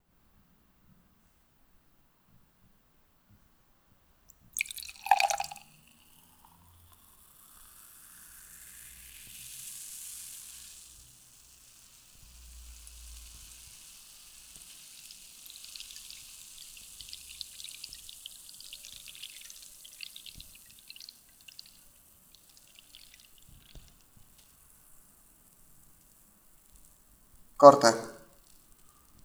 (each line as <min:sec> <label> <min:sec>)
0:04.6 Serving Champagne on Glass 0:05.7
0:04.6 Fizz 0:29.2